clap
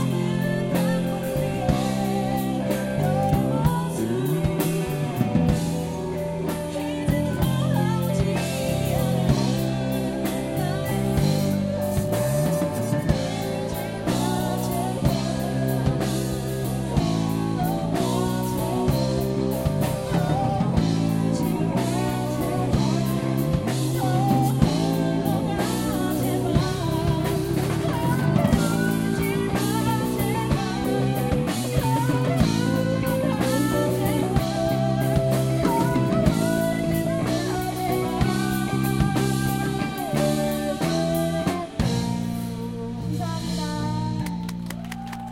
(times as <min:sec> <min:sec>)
0:44.2 0:45.3